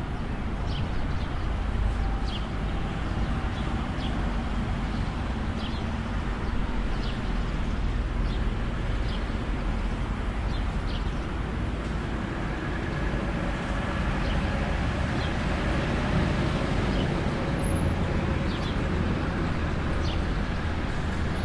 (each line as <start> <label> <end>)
0.0 traffic 21.4
0.7 Birds 4.3
4.9 Birds 11.4
16.9 Birds 21.4